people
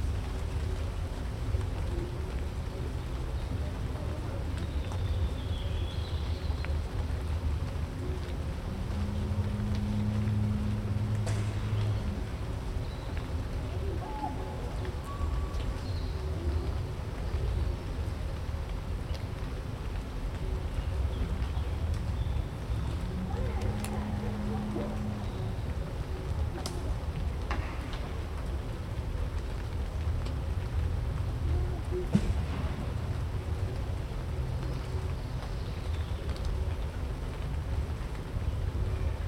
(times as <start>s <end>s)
22.8s 29.6s